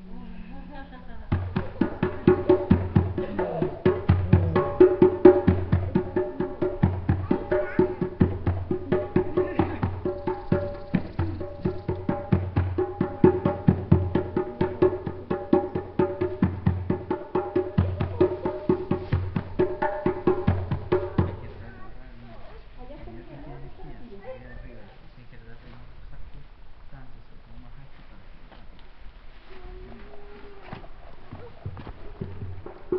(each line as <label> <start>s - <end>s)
children 0.0s - 13.7s
natural eco 0.0s - 32.9s
drums 0.9s - 23.1s
voices spanish 5.8s - 12.2s
birds 7.2s - 14.3s
children 17.1s - 25.1s
voices spanish 21.1s - 27.9s
drums 28.0s - 32.9s
children 29.3s - 32.9s